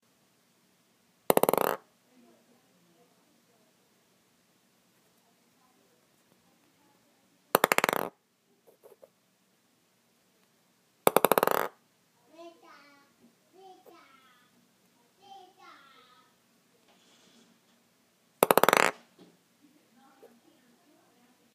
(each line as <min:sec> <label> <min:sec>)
0:01.3 Plastic ping-pong ball being dropped approx. one inch onto wooden table 0:01.8
0:07.6 Plastic ping-pong ball being dropped approx. one inch onto wooden table 0:08.1
0:11.1 Plastic ping-pong ball being dropped approx. one inch onto wooden table 0:11.8
0:18.4 Plastic ping-pong ball being dropped approx. one inch onto wooden table 0:19.3